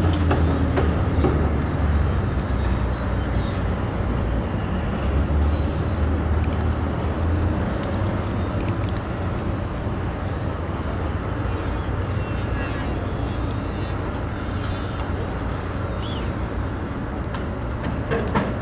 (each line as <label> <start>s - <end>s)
construction noise 0.0s - 18.6s
lapping riverwater 0.0s - 18.6s
rumble of traffic on a nearby bridge 0.0s - 18.6s